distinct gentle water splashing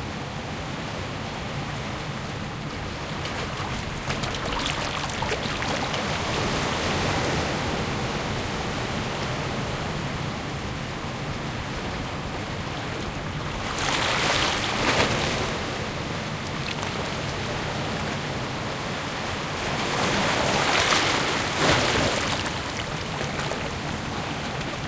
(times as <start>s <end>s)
2.6s 8.8s